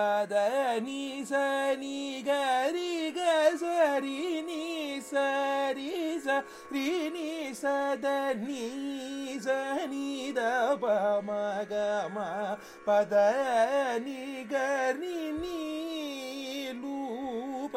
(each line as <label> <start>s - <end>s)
young Carnatic vocalist 0.0s - 17.7s